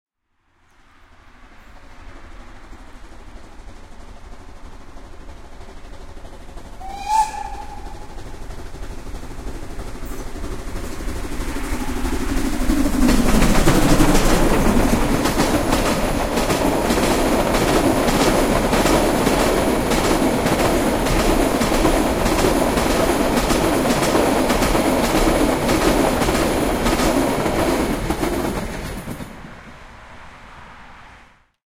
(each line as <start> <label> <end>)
0.4 Steam train passing by 31.4